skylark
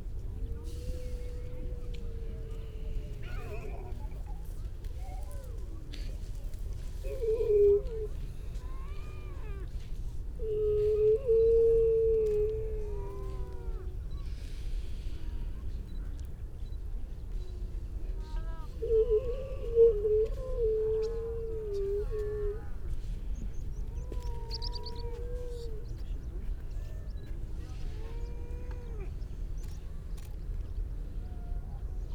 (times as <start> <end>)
23.4 30.8